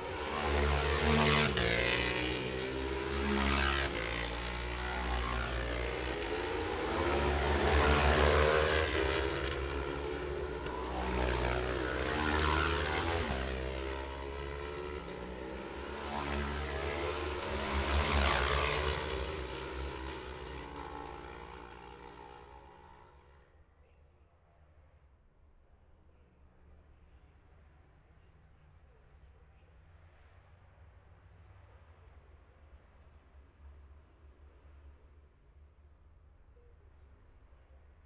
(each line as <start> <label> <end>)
0.0 road racing 23.4